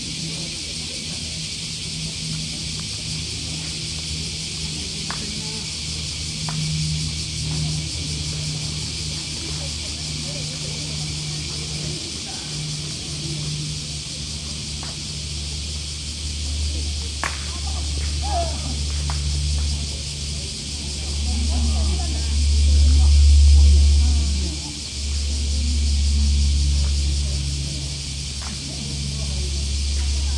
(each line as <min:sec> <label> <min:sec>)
0:00.0 Cicadas singing 0:30.3
0:00.0 people playing ground golf 0:30.3